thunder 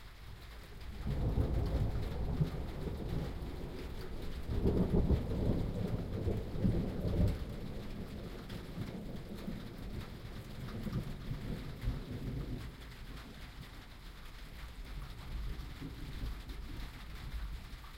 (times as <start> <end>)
0.8 13.5